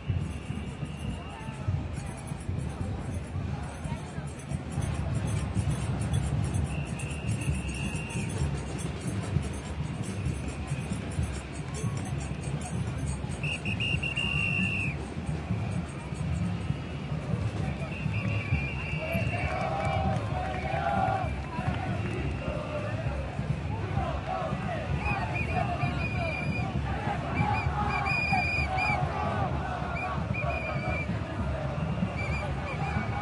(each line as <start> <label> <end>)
0.0 crowd 33.2
0.0 drums 33.2